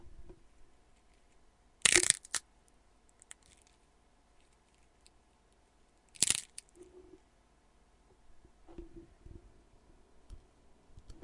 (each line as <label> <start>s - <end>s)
Bone Being cracked 1.8s - 2.4s
Bone Being cracked 6.2s - 6.6s